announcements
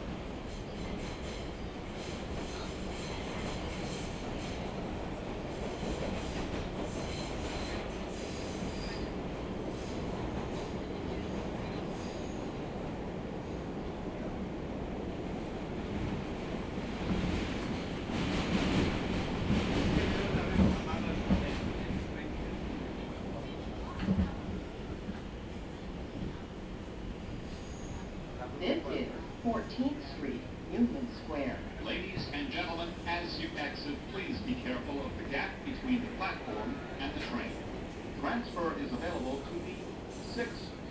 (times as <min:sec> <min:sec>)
0:28.5 0:40.6